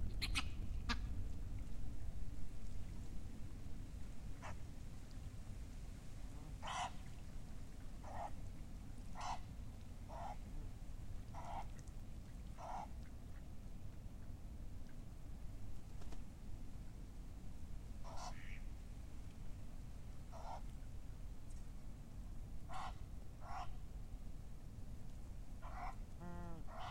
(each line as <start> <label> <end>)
0.2 ducks 1.1
4.4 ducks 4.6
6.4 ducks 7.1
8.0 ducks 8.4
9.1 ducks 9.5
10.1 ducks 10.5
11.3 ducks 11.9
12.5 ducks 13.5
18.0 ducks 18.6
20.3 ducks 20.7
22.7 ducks 23.8
25.6 ducks 26.9